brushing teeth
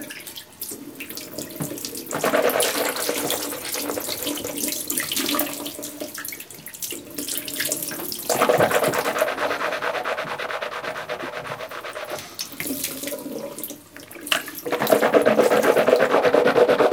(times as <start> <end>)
8.3 13.1, 14.6 16.9